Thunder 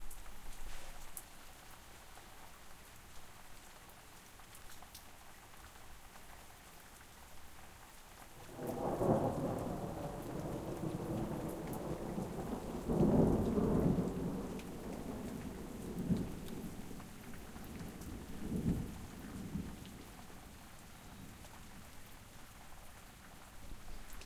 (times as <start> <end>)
8.5 16.9